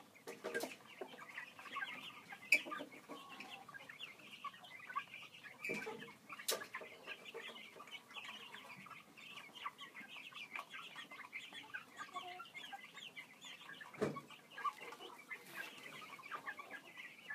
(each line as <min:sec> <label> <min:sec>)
0:00.0 Chicks and 1 Hen Feeding 0:17.3